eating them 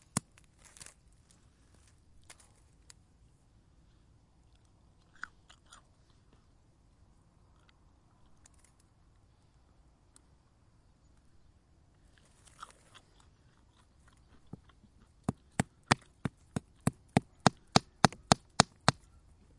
0:04.4 0:06.5, 0:12.0 0:19.2

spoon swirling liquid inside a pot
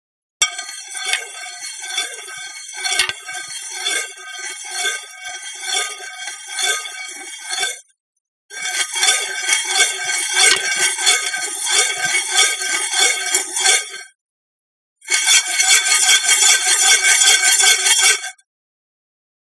0:00.4 0:07.6, 0:09.1 0:12.2

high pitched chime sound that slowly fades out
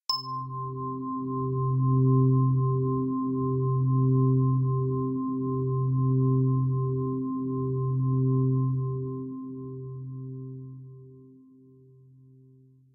0:00.1 0:00.5

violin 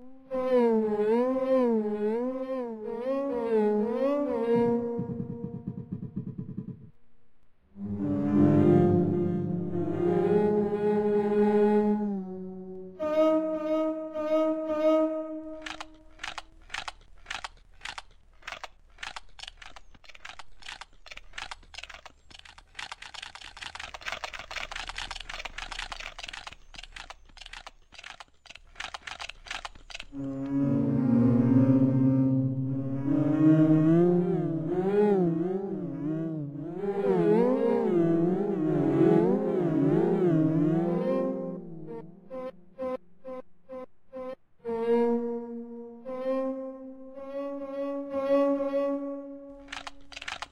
0:00.0 0:06.7, 0:07.8 0:17.4, 0:30.1 0:50.3

